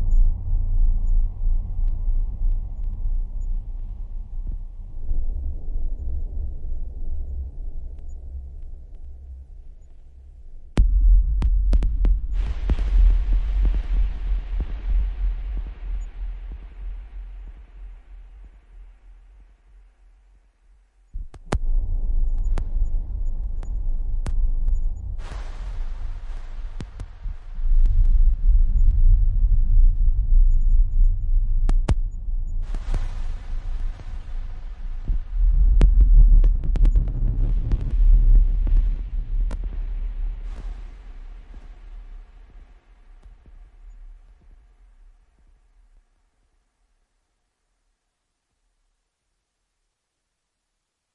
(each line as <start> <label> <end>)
0.0 bass 49.3